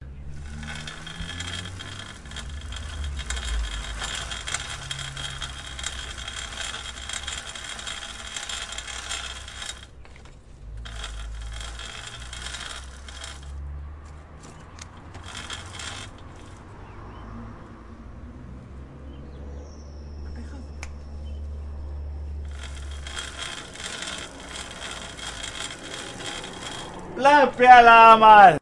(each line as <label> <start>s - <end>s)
Bicycle Chain Spinning 0.2s - 16.8s
Bicycle Chain Spinning 22.4s - 27.4s